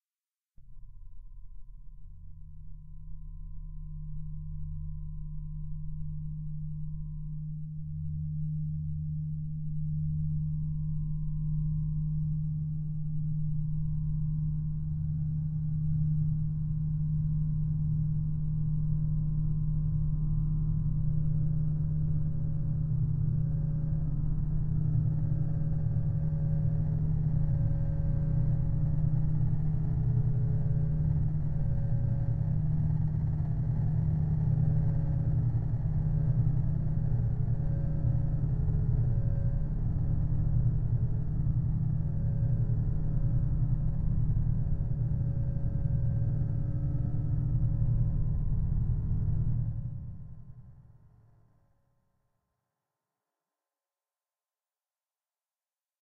drone 0:15.5 - 0:50.4

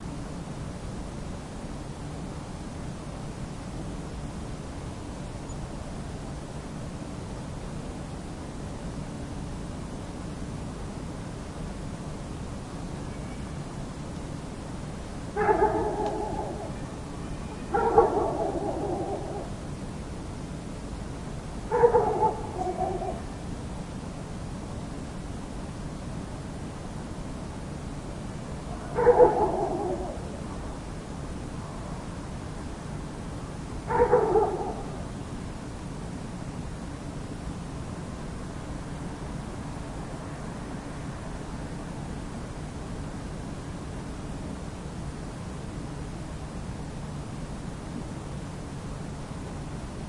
dog barking 0:15.4 - 0:16.8
dog barking 0:17.7 - 0:19.5
dog barking 0:21.7 - 0:23.2
dog barking 0:28.7 - 0:30.3
dog barking 0:33.9 - 0:35.0

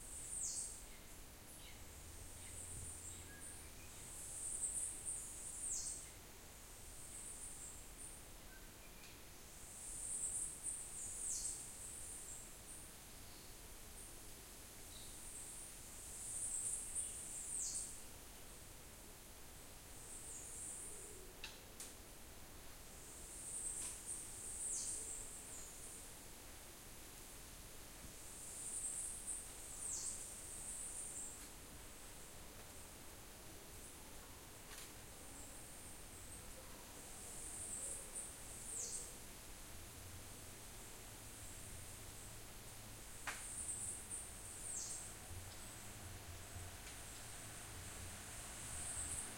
Birds 0:23.3 - 0:26.0
Birds 0:35.3 - 0:39.2
Birds 0:43.3 - 0:45.8

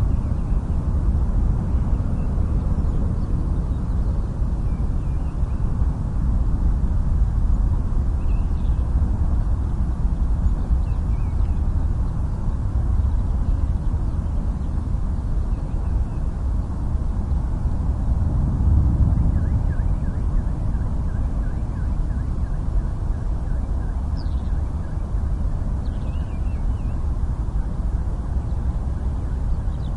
distant motorway 0:00.0 - 0:29.9
planes 0:00.0 - 0:29.9
skylarks 0:19.0 - 0:29.9

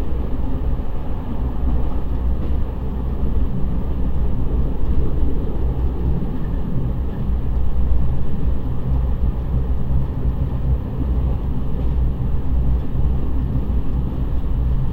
train 0:00.0 - 0:14.9

